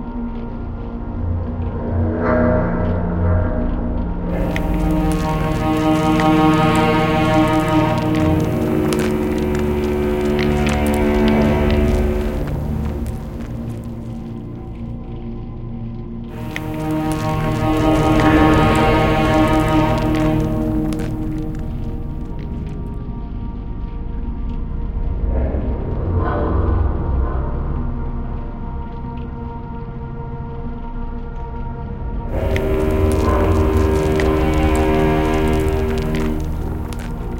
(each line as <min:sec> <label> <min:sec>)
0:04.0 Drone 0:23.8
0:32.3 Drone 0:37.3